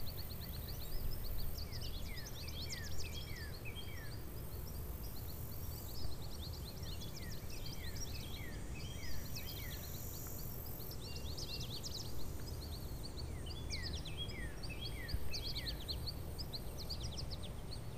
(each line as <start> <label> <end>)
0.0 birds 17.9
0.0 crickets 17.9